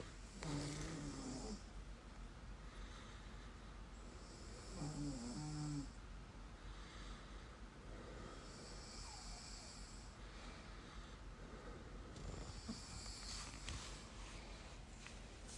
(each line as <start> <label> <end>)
0.3 mild snore 1.7
2.6 breathing 3.9
4.2 mild snore 6.0
6.6 breathing 14.9
8.2 mild snore 10.1
12.1 mild snore 13.7